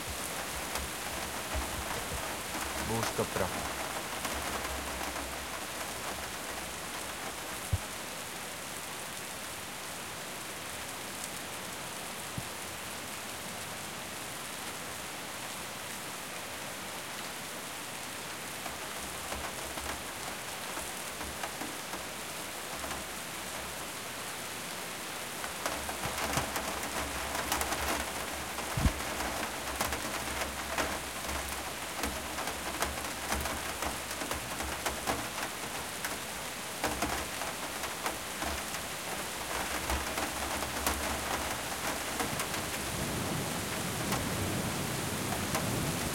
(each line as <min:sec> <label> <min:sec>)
0:00.0 rain on windowsill 0:46.1